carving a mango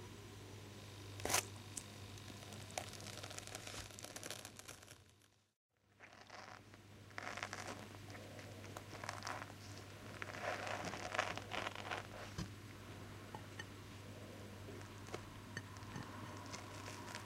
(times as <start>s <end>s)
1.1s 5.0s, 14.8s 17.2s